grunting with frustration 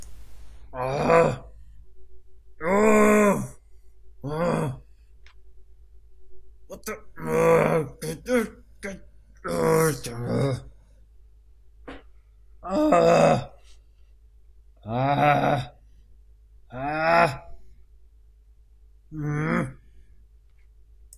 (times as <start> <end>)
0.7 1.5, 2.6 3.6, 4.2 4.8, 6.8 10.7, 19.1 19.8